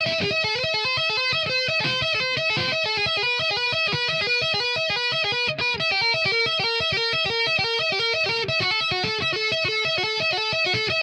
metal 'hammer-on' guitar riff with distortion 0.0 - 11.0

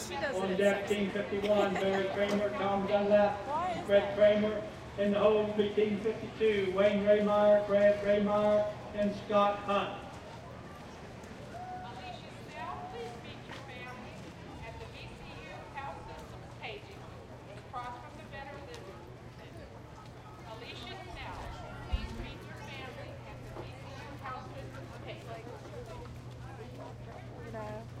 Crowd Noise 0.0 - 28.0

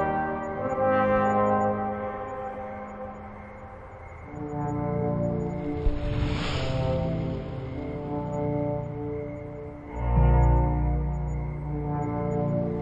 brass 0.0 - 2.5

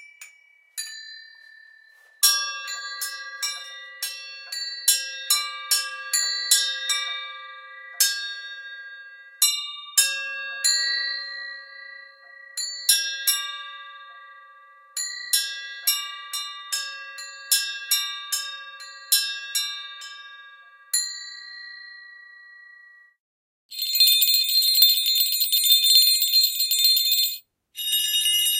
glockenspiel 0.0 - 28.5
jingle bells 23.7 - 28.5

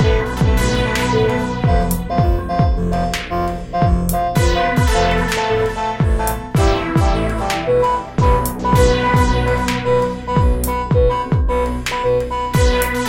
drums 0.0 - 12.0
Several Synt 0.0 - 13.0
drums 12.6 - 13.0

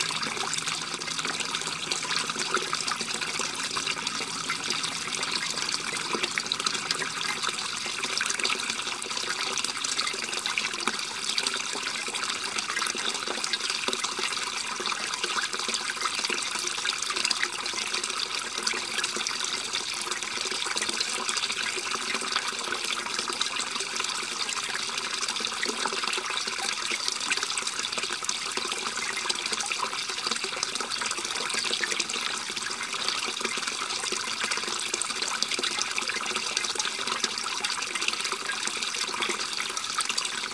gurgling water river 0.0 - 40.5

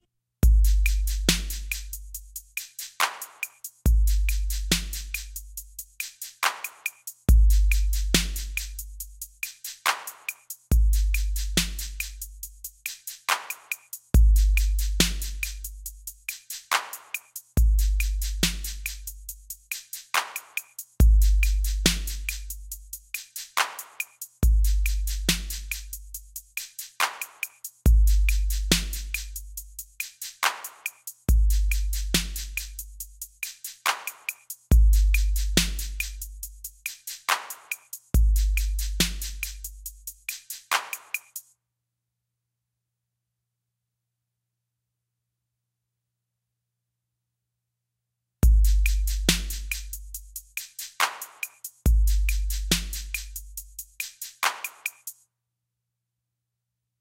Hat 0.4 - 41.5
Snare 0.7 - 2.0
Snare 2.6 - 3.7
Snare 4.3 - 5.4
Snare 6.0 - 8.8
Snare 9.4 - 10.6
Snare 11.2 - 12.2
Snare 12.9 - 14.0
Snare 14.6 - 15.7
Snare 16.3 - 17.4
Snare 18.0 - 19.1
Snare 19.7 - 22.6
Snare 23.2 - 26.0
Snare 26.6 - 27.7
Snare 28.3 - 29.4
Snare 30.0 - 32.8
Snare 33.4 - 36.2
Snare 36.8 - 39.7
Snare 40.3 - 41.5
Hat 48.4 - 55.2
Snare 48.7 - 50.0
Snare 50.6 - 53.4
Snare 54.0 - 55.2

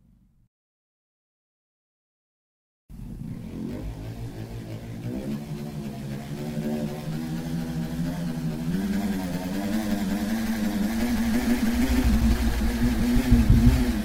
small plastic ball being spun around the inside of a balloon 3.0 - 14.0

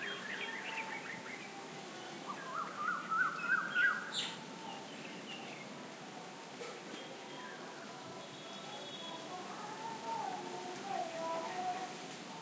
birds 0.0 - 5.8
leaves rustle 0.0 - 12.4
light wind 0.0 - 12.4
loudspeaker song was heard from a distance 7.2 - 12.4

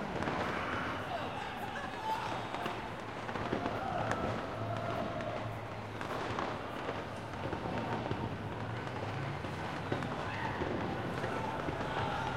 Crowd 0.0 - 12.3
fireworks 0.0 - 12.3

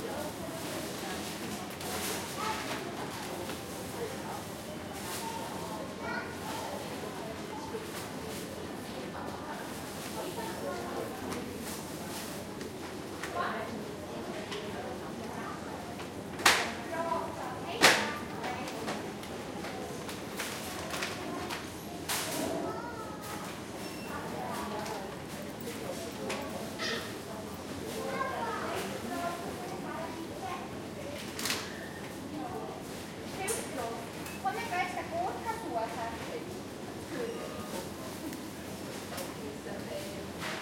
people talking 0.0 - 40.6

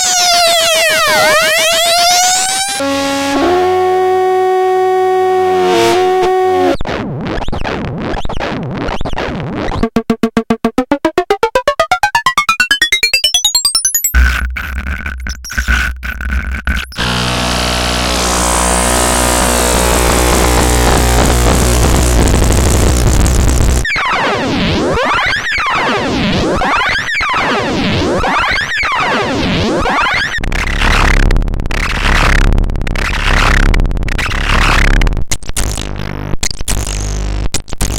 modular synth 9.7 - 15.7

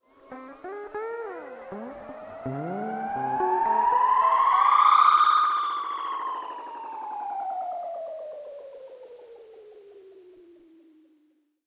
strange magical sound 1.2 - 8.0

